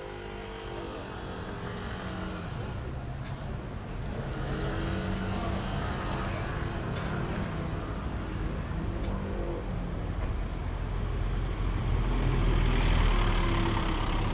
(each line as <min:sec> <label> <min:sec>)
0:00.0 motorcycle 0:03.4
0:00.0 cars driving on the road 0:14.3
0:00.0 cart 0:14.3
0:04.0 motorcycle 0:09.8
0:11.0 motorcycle 0:14.3